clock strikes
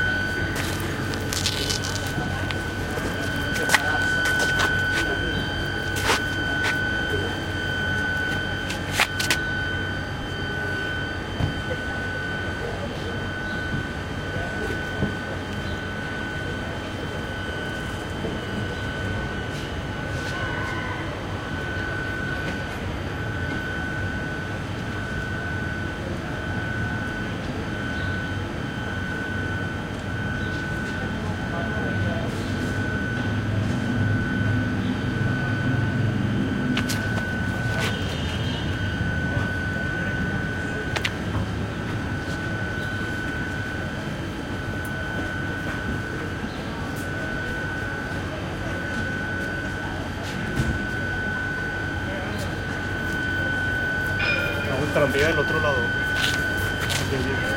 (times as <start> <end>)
53.7 57.5